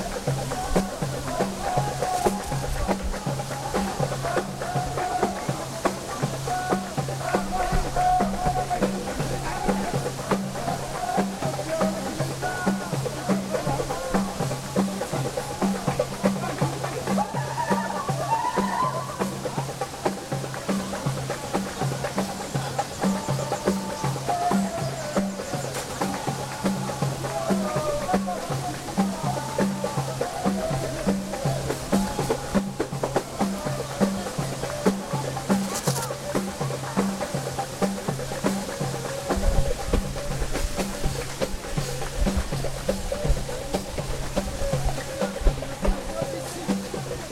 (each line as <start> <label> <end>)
0.0 drums 47.3
0.0 waterfall 47.3